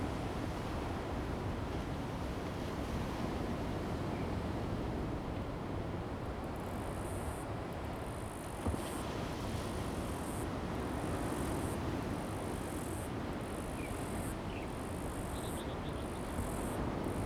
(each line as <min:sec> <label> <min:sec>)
0:00.0 wind 0:17.2
0:07.7 waves 0:17.2